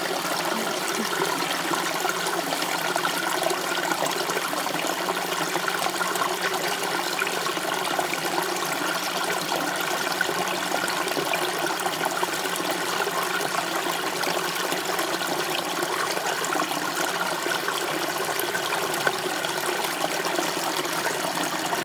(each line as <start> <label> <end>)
0.0 Water flowing in a small creek 21.8